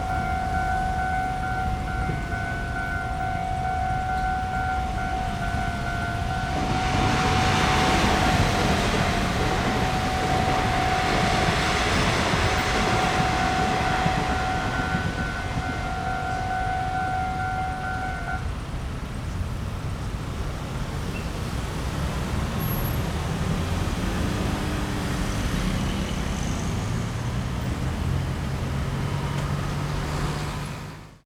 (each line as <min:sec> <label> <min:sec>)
0:00.0 Warning tone 0:18.5
0:00.0 Traffic Noise 0:31.2
0:00.0 Train traveling through 0:31.2